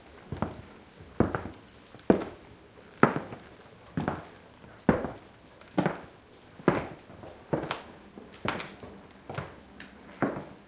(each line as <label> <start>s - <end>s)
Footsteps on wooden floor 0.3s - 0.6s
Footsteps on wooden floor 1.2s - 2.4s
Footsteps on wooden floor 4.0s - 4.3s
Footsteps on wooden floor 4.9s - 5.2s
Footsteps on wooden floor 6.7s - 7.8s